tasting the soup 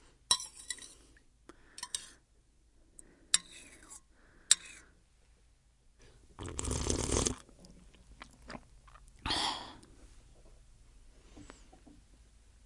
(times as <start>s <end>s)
6.4s 7.5s